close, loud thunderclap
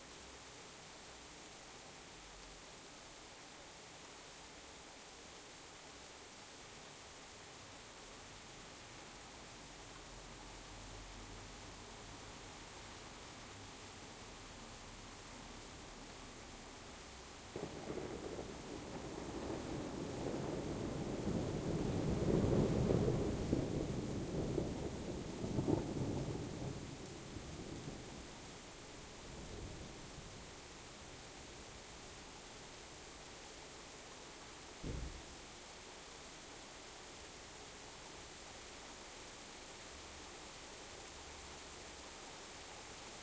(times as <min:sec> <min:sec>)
0:17.6 0:26.9, 0:34.8 0:35.3